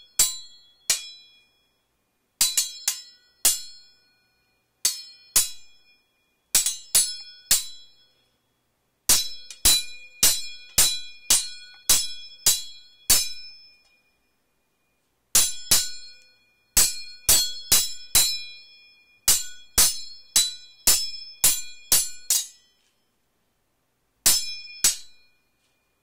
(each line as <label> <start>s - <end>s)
sword hits 0.1s - 1.4s
sword hits 2.4s - 3.9s
sword hits 4.8s - 5.8s
sword hits 6.5s - 8.0s
sword hits 9.1s - 13.6s
sword hits 15.4s - 16.2s
sword hits 19.3s - 22.7s
sword hits 24.2s - 25.3s